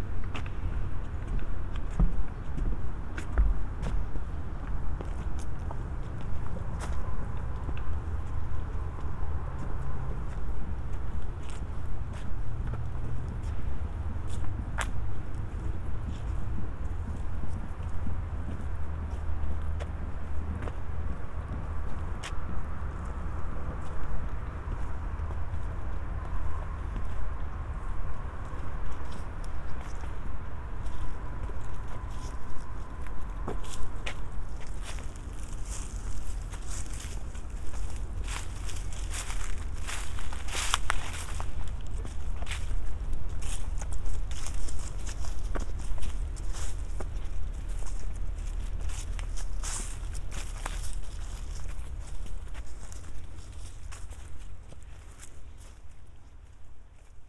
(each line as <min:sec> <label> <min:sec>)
0:00.1 Footsteps on wooden planks 0:57.2